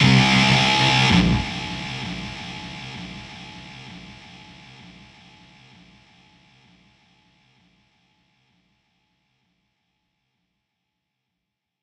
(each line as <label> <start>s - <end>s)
Guitar intune 0.0s - 3.4s
Kick 0.0s - 5.2s
Bass 0.0s - 6.0s